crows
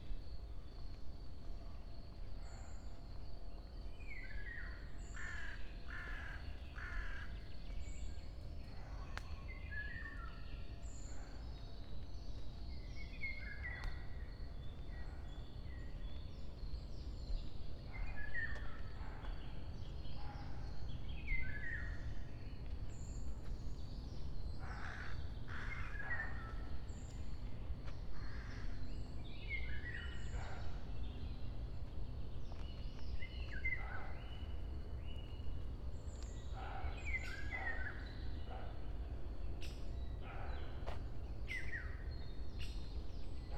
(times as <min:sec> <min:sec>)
0:05.2 0:07.3, 0:24.6 0:26.4